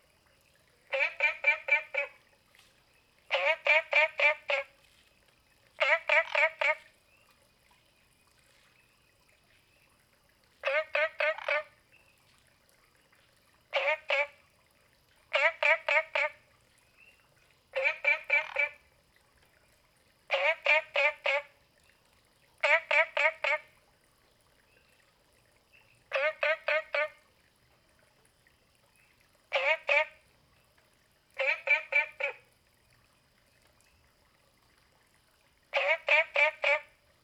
Frogs chirping 0:00.0 - 0:04.7
Frogs chirping 0:05.4 - 0:12.2
Frogs chirping 0:13.6 - 0:14.5
Frogs chirping 0:15.3 - 0:18.8
Frogs chirping 0:20.3 - 0:21.6
Frogs chirping 0:22.6 - 0:23.7
Frogs chirping 0:25.7 - 0:27.2
Frogs chirping 0:28.9 - 0:30.7
Frogs chirping 0:31.4 - 0:32.5
Frogs chirping 0:35.7 - 0:37.0

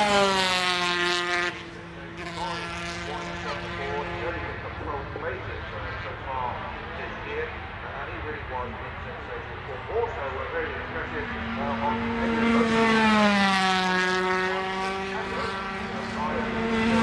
125cc motorcycle warm up 0:11.5 - 0:17.0

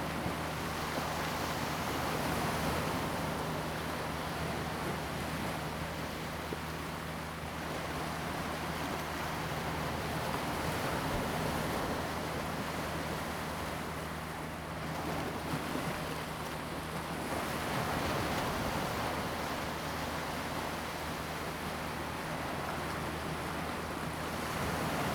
Waves 0:00.0 - 0:25.1

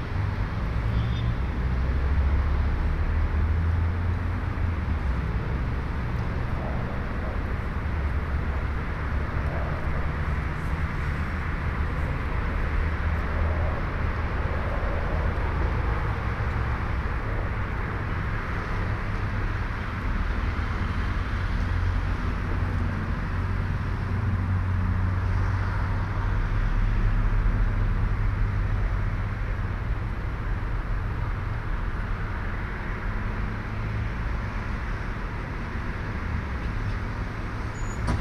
rare wind swooshes through the platform shed 0:05.1 - 0:20.1
train platform 0:37.8 - 0:38.2

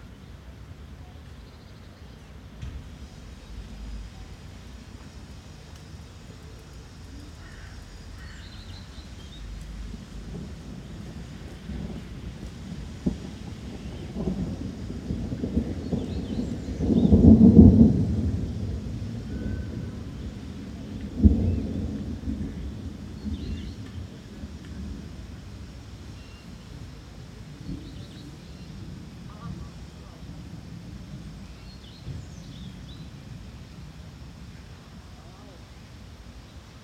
light winds 0:00.0 - 0:36.8
raining lightly 0:00.0 - 0:36.8
thundering at intervals 0:02.5 - 0:06.4
crows 0:07.4 - 0:08.8
thundering at intervals 0:07.5 - 0:26.1
people talking 0:29.3 - 0:30.3
people talking 0:35.0 - 0:35.6

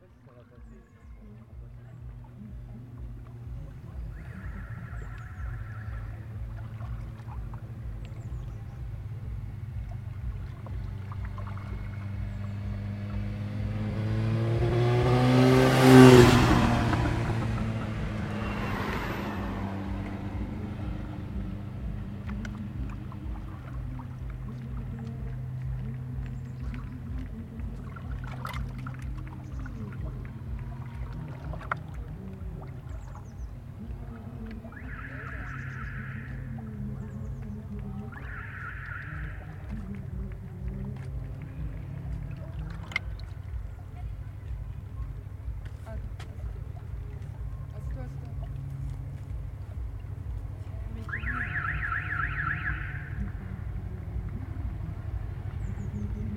clapotis de l'eau 0:00.6 - 0:15.4
applaudissements du public 0:14.2 - 0:56.3
clapotis de l'eau 0:16.1 - 0:56.3

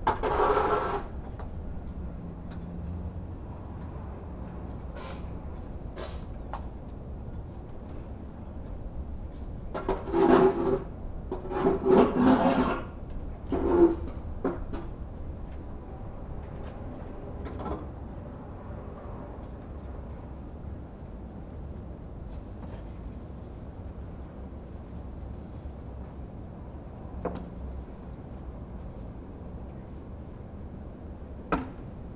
Street sounds 0:00.0 - 0:32.1
Man shoveling the snow from the sidewalks 0:00.1 - 0:01.1

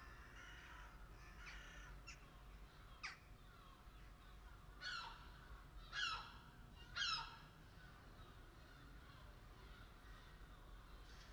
Crows 0:00.0 - 0:02.3

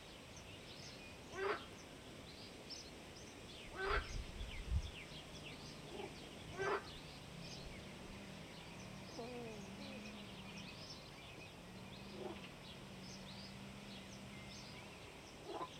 Frogs 0:01.3 - 0:01.8
Frogs 0:03.7 - 0:04.2
Frogs 0:05.8 - 0:15.7

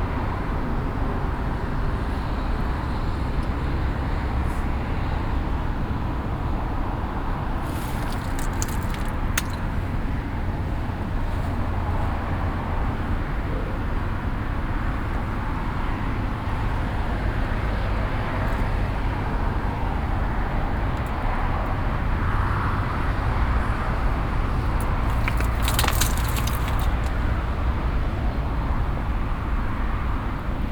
loose slate stones inside the vineyard 0:07.5 - 0:09.9
voice of a child playing with the stones 0:07.6 - 0:09.7
loose slate stones inside the vineyard 0:24.6 - 0:27.2
voice of a child playing with the stones 0:24.8 - 0:27.1

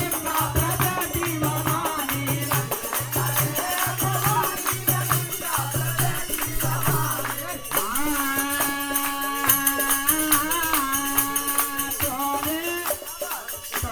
group of men sings in a very small temple 0:00.0 - 0:13.9

